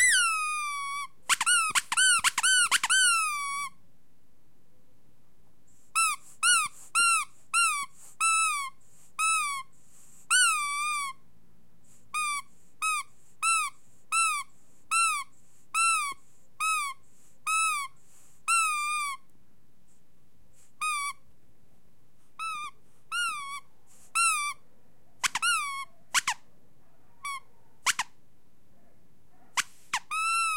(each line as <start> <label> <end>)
0.0 rubber squeaky toy being squeezed 3.8
5.9 rubber squeaky toy being squeezed 9.7
10.3 rubber squeaky toy being squeezed 11.2
12.1 rubber squeaky toy being squeezed 19.3
20.8 rubber squeaky toy being squeezed 21.2
22.4 rubber squeaky toy being squeezed 24.6
25.2 rubber squeaky toy being squeezed 26.4
27.2 rubber squeaky toy being squeezed 28.2
29.6 rubber squeaky toy being squeezed 30.5